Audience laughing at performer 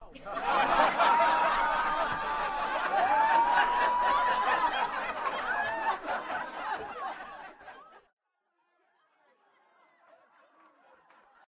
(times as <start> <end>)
0.1 8.1